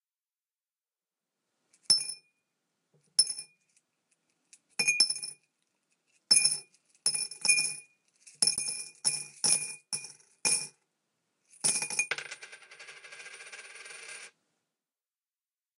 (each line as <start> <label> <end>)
11.6 Change being dropped into a glass jar 14.3